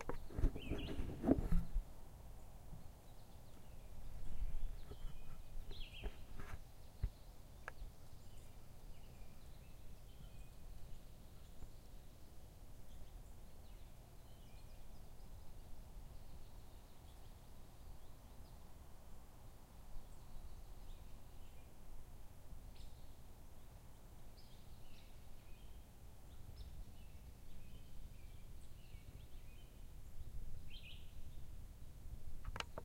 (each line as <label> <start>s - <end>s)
quiet bird sounds 0.0s - 32.8s